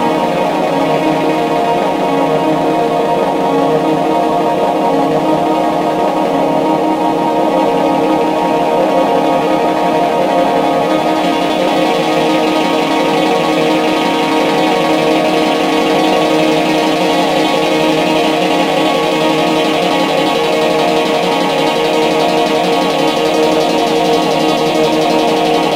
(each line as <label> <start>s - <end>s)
synthesizer 0.0s - 25.7s